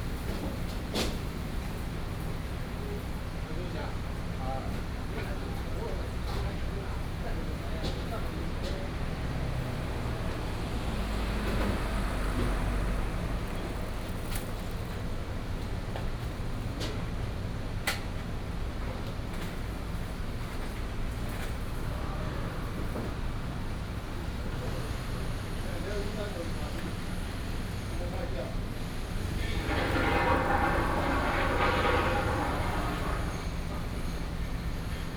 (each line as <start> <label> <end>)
6.2 Road construction Sound 15.0
21.3 Road construction Sound 35.1